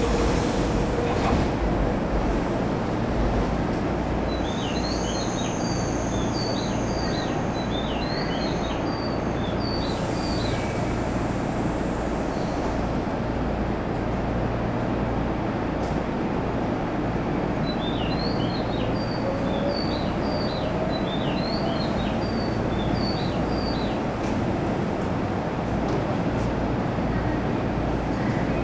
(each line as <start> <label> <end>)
0.0 train idling 8.1
0.0 train departing 17.6
8.8 train idling 14.9
18.3 train departing 28.4